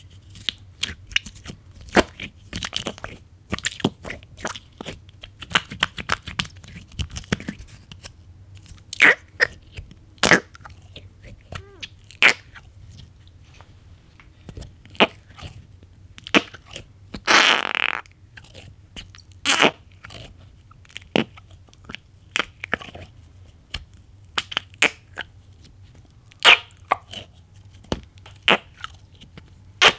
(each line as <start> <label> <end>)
9.0 Goopy Toy Squishing 12.6
16.2 Goopy Toy Squishing 23.1
23.7 Goopy Toy Squishing 29.9